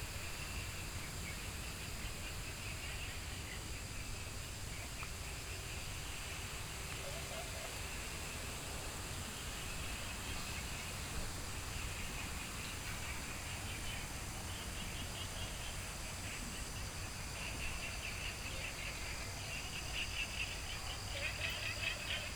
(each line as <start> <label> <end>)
0.0 Insect sounds 22.3